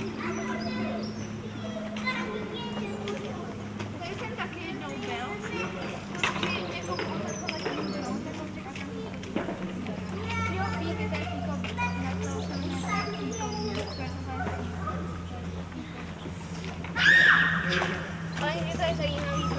Children playing 0:00.0 - 0:19.5
Construction site 0:00.0 - 0:19.5

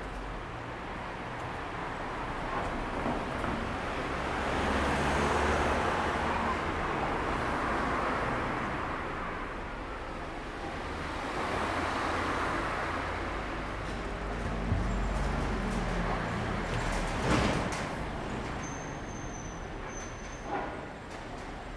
city bus 0:00.0 - 0:21.7
train rode by 0:00.1 - 0:21.7

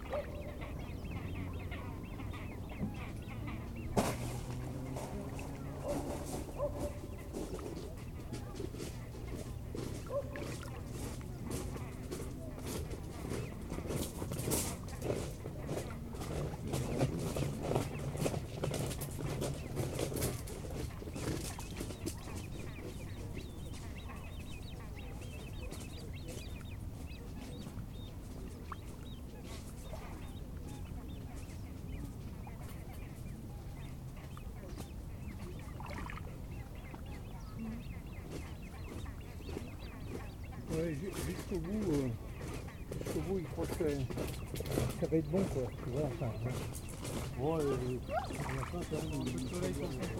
jeunes grèbes piaillent sur le lac 0:00.0 - 0:50.1

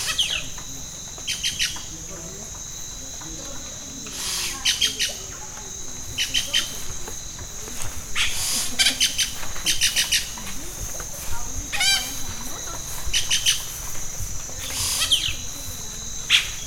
Pájaro Arrendajo 0:08.1 - 0:16.6

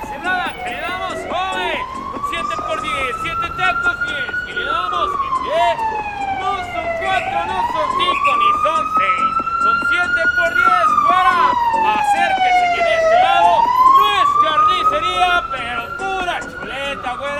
d'innombrables marchands ambulants 0:00.0 - 0:17.3

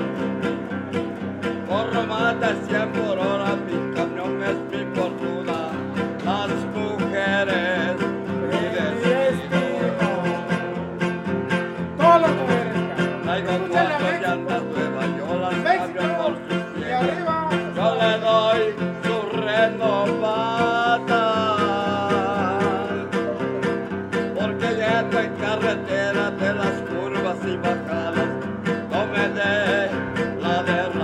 musicien 0:00.0 - 0:31.0

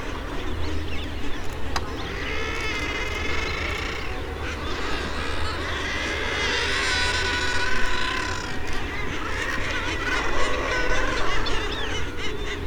bird calls from kittiwakes 0:00.0 - 0:12.6
boats 0:00.0 - 0:12.6
nesting guillemots 0:00.0 - 0:12.6
young guillemots making piping calls 0:00.1 - 0:12.6

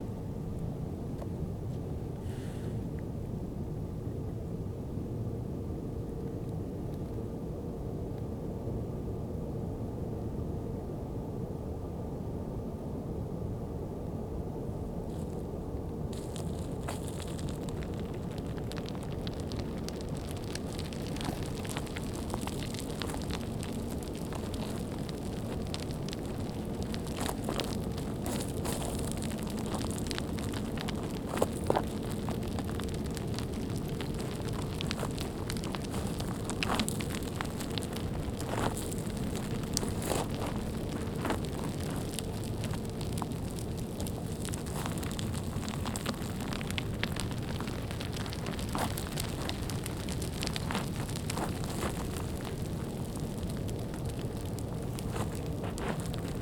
avalanche 0:15.0 - 0:56.4

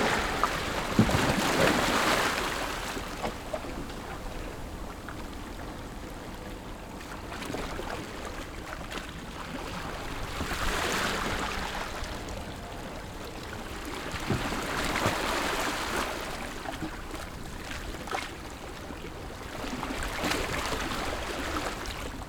waves 0:00.0 - 0:22.2

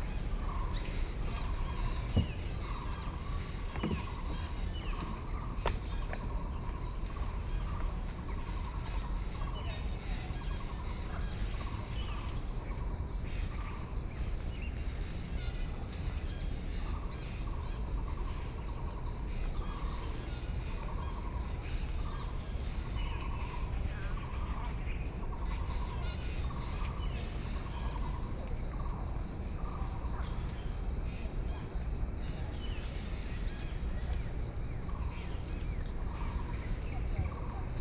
Bird calls 0:00.0 - 0:37.8

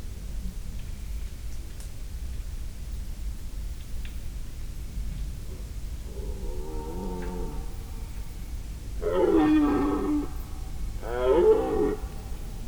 Elk rutting 0:05.9 - 0:12.6

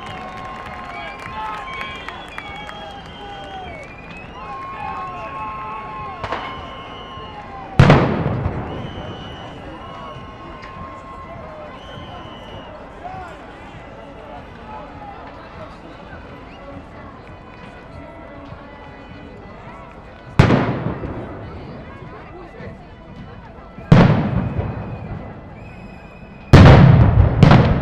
People are screaming against police 0:00.0 - 0:13.4

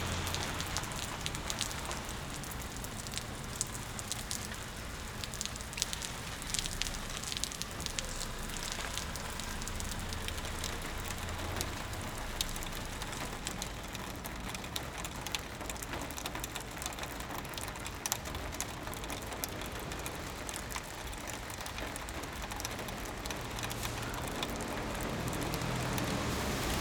car parks under the stream of water 0:00.0 - 0:26.8
water dripping on the road 0:00.0 - 0:26.8

